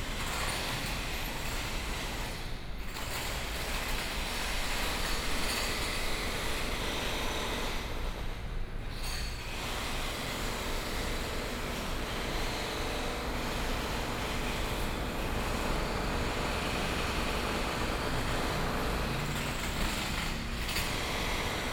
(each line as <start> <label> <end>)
9.8 Construction noise 21.7